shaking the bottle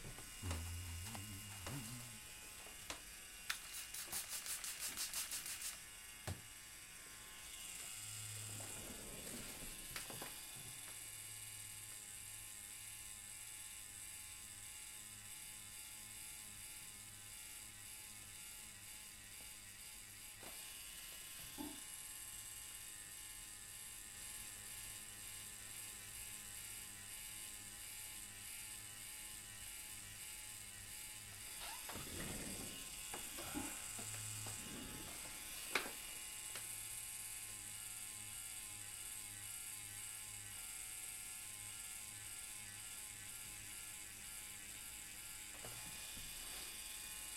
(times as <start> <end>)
3.6 5.8